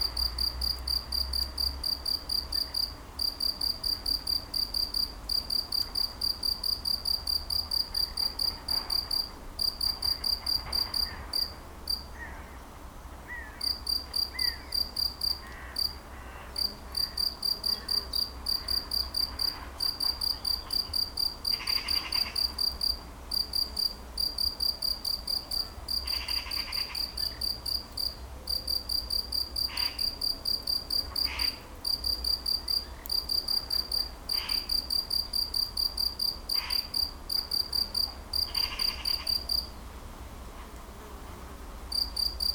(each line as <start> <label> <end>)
0.0 Locust singing in the grass 12.1
13.5 Locust singing in the grass 39.7
41.9 Locust singing in the grass 42.5